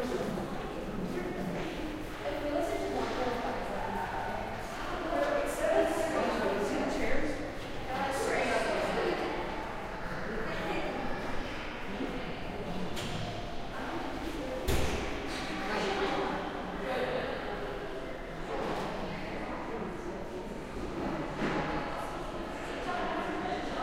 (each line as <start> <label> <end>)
0.0 chatter 23.8